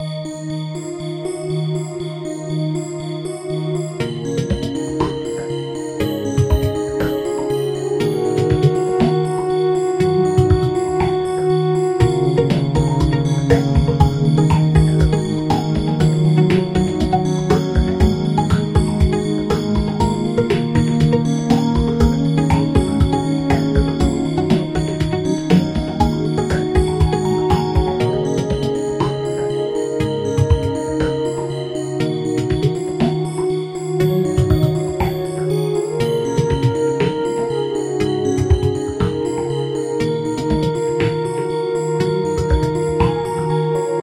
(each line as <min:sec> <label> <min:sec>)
0:00.0 Background music 0:44.0